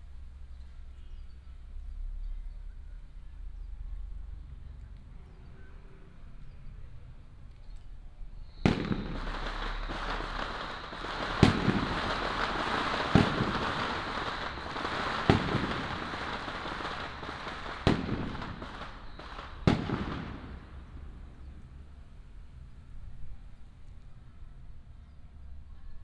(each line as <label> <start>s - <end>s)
Firecrackers 7.7s - 24.3s
fireworks 8.4s - 23.5s